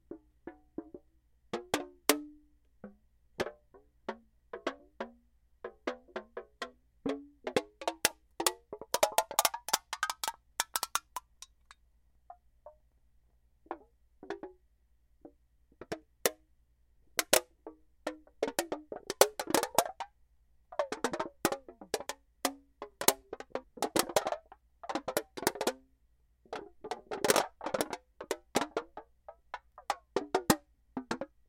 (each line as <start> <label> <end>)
9.4 tin aluminiumcover on a container makes noise 11.8